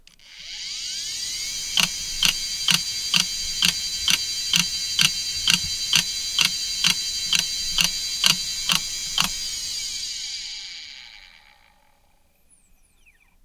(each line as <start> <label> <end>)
0.0 hard drive 11.9
1.3 rattle 12.5